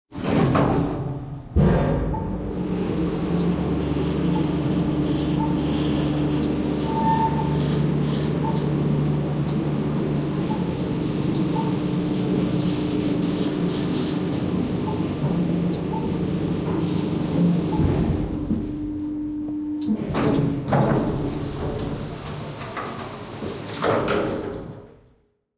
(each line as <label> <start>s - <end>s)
elevator 0.2s - 25.0s